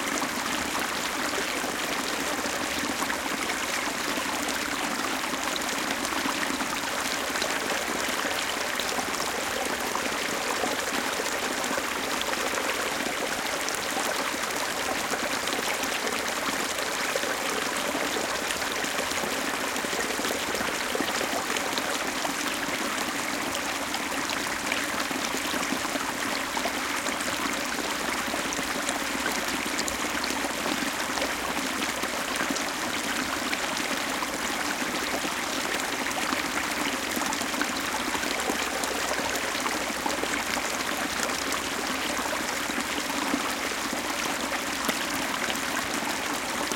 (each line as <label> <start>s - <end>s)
small creek 0.0s - 46.7s